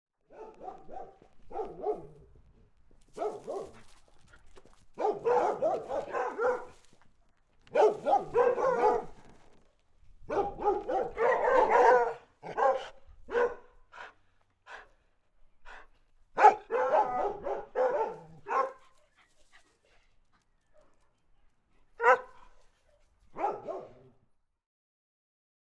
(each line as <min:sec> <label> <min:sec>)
0:00.3 dogs barking 0:02.2
0:03.2 dogs barking 0:03.9
0:05.0 dogs barking 0:06.8
0:07.7 dogs barking 0:09.3
0:10.3 dogs barking 0:13.8
0:16.4 dogs barking 0:19.0
0:22.0 dogs barking 0:22.5
0:23.3 dogs barking 0:24.1